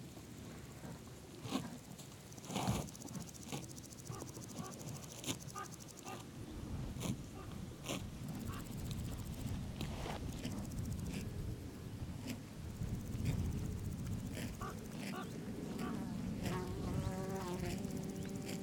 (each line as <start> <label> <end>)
0.4 cow grazing 18.6
1.7 flying-by insects 6.2
12.7 flying-by insects 18.6